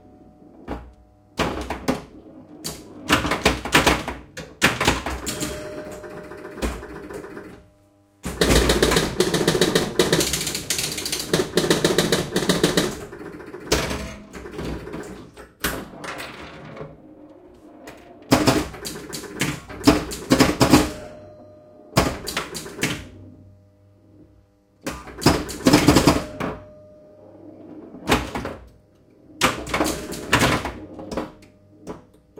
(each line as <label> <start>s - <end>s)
Pinball machine 0.0s - 32.3s